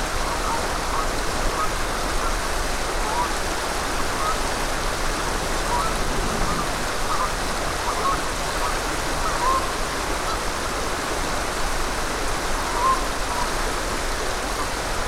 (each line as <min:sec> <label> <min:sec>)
0:00.0 Rushing River 0:15.0
0:04.0 geese calling 0:10.4
0:04.6 traffic in the background 0:07.8